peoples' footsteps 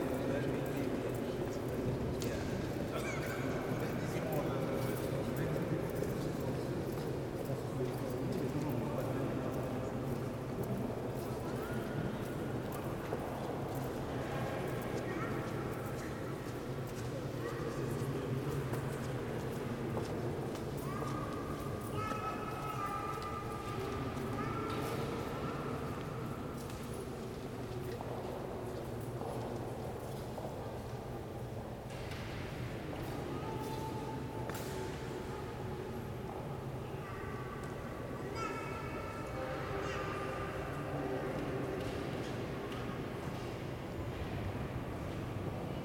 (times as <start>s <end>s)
3.5s 35.2s